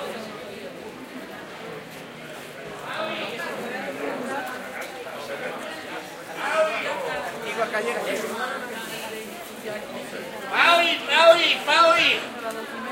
many other voices 0:00.0 - 0:12.9
streetnoise 0:00.0 - 0:12.9
lottery peddlers 0:10.1 - 0:12.9

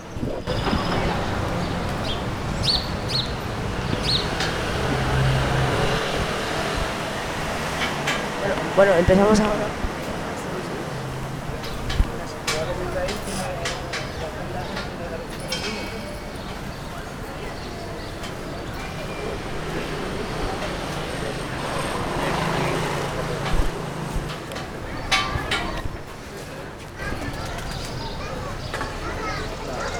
Birds 0:00.0 - 0:06.8
Humans 0:00.5 - 0:07.2
Cars 0:00.5 - 0:29.9
Humans 0:08.4 - 0:29.9
Birds 0:11.6 - 0:23.5
Birds 0:27.0 - 0:29.9

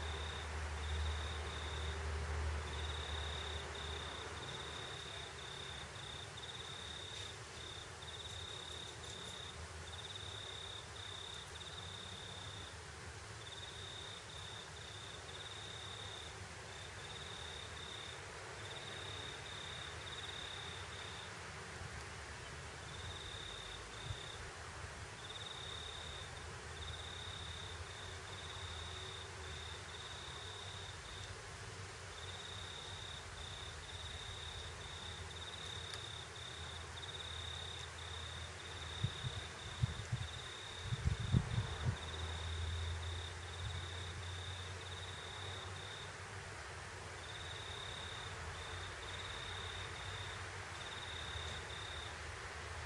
crickets 0:00.0 - 0:52.8
distant traffic 0:00.0 - 0:52.8
wind noise 0:39.0 - 0:42.1

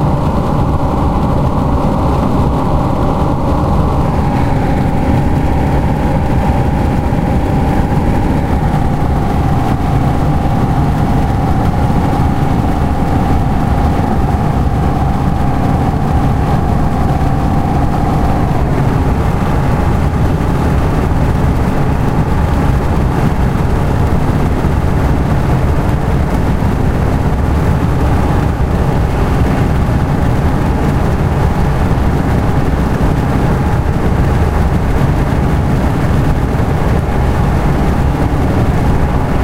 Car Strong Wind Noise 0:00.0 - 0:39.4

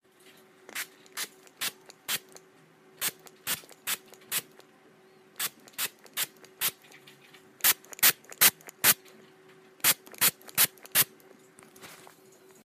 spray-bottle spritzing water 0:09.8 - 0:11.1

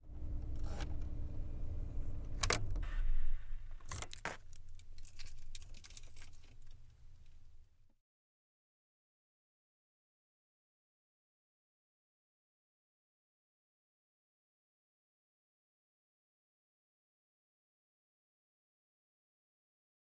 car being turned off 0:00.0 - 0:04.2

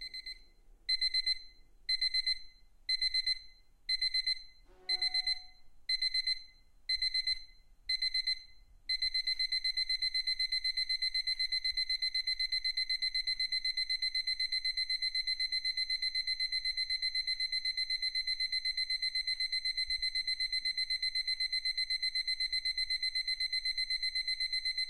song alarm 0:04.7 - 0:05.6

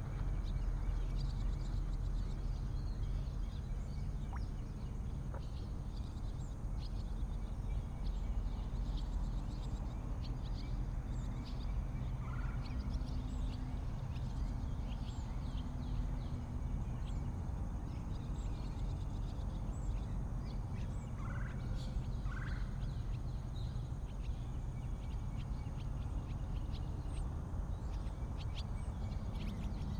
crickets 0:00.0 - 0:29.9
birdsong 0:00.2 - 0:29.9

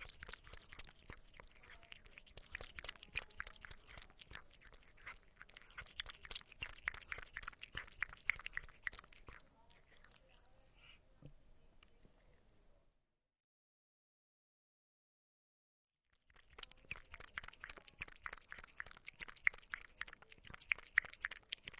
Cat is drinking milk 0:00.0 - 0:11.0
Cat is drinking milk 0:16.1 - 0:21.7

